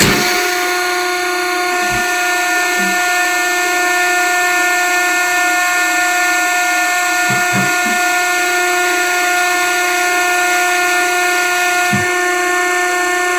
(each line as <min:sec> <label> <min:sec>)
0:00.0 Dumpster Pressing 0:04.8
0:06.8 Dumpster Pressing 0:10.3